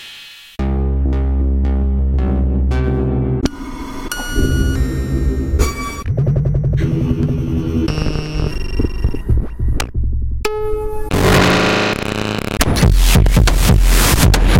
distortion 0:02.2 - 0:14.5
drum loop 0:07.9 - 0:10.1
drum loop 0:12.6 - 0:14.5

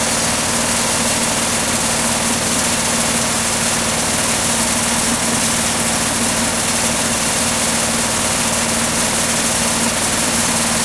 AC compressor unit 0:00.0 - 0:10.8

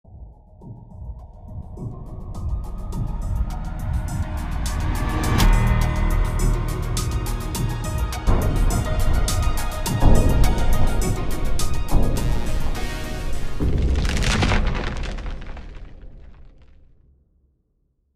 Trailer Jingle 0:02.2 - 0:14.1

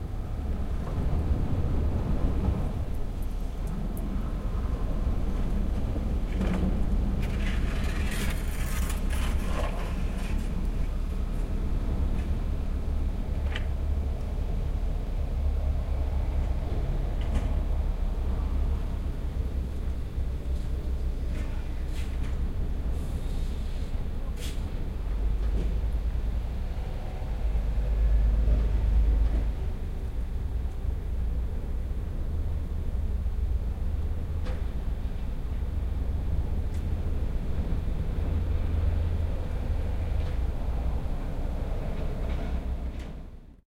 huge container crane 0:00.0 - 0:43.6

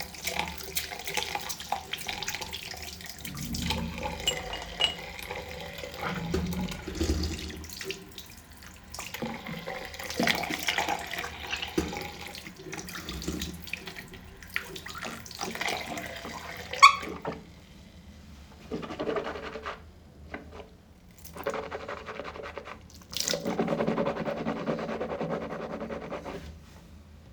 water being moved in a glass 0:00.0 - 0:08.2
water being moved in a glass 0:14.6 - 0:17.4

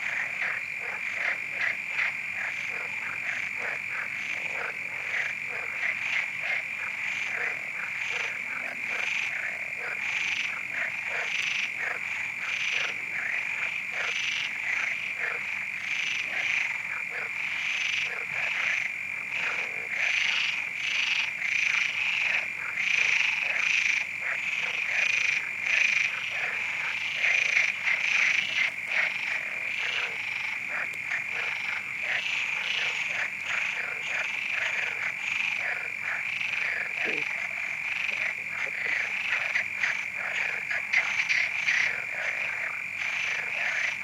crickets 0:00.0 - 0:44.0
frogs 0:00.0 - 0:44.0

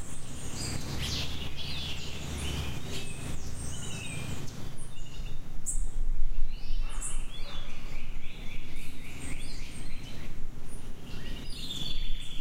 insects 0:00.0 - 0:05.9
birds 0:00.0 - 0:12.4

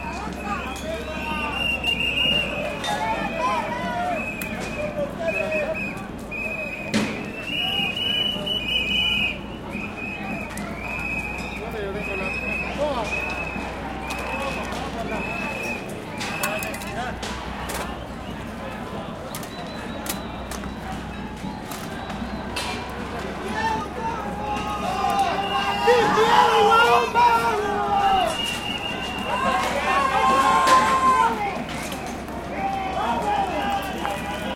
Protests 0:00.0 - 0:34.5

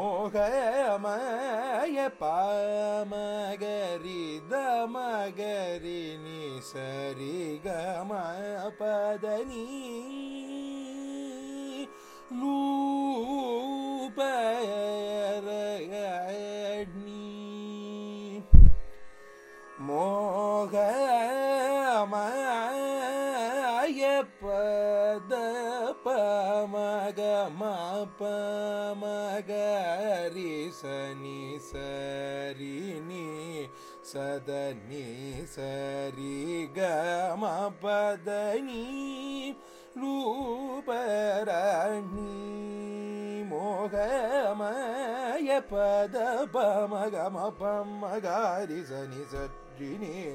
young Carnatic vocalist 0:00.0 - 0:50.3

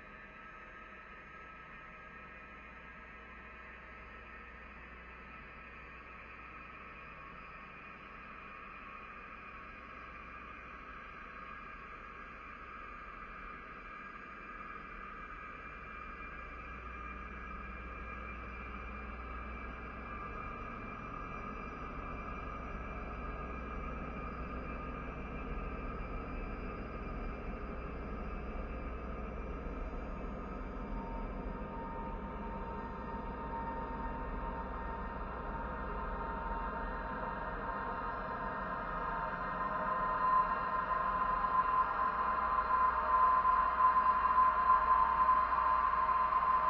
slowly evolving ambient drone pad 0:00.3 - 0:46.6

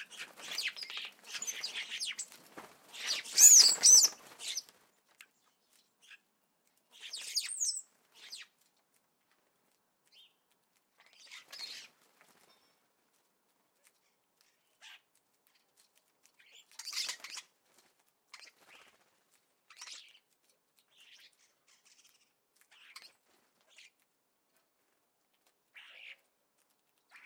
collared doves 0:00.0 - 0:04.7
starlings 0:00.0 - 0:04.7
wing sounds of woodpigeon 0:00.0 - 0:04.9
house sparrow 0:00.0 - 0:08.6
starlings 0:06.9 - 0:08.5
house sparrow 0:10.0 - 0:12.9
wing sounds of woodpigeon 0:16.5 - 0:20.1

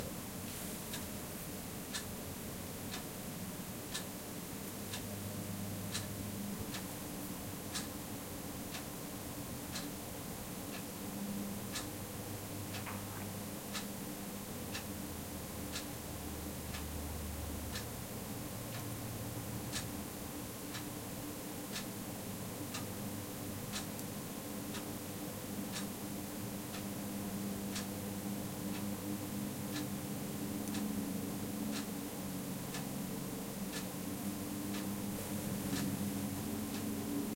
Ticking Clock 0:19.7 - 0:19.9
Ticking Clock 0:23.7 - 0:24.0
Ticking Clock 0:25.7 - 0:26.0
Ticking Clock 0:27.7 - 0:27.9
Ticking Clock 0:29.7 - 0:29.9
Ticking Clock 0:30.6 - 0:31.0
Ticking Clock 0:31.7 - 0:31.9
Ticking Clock 0:33.7 - 0:34.0

